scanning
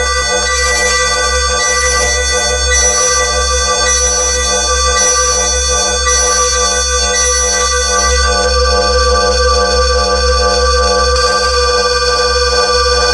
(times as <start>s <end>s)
0.0s 8.4s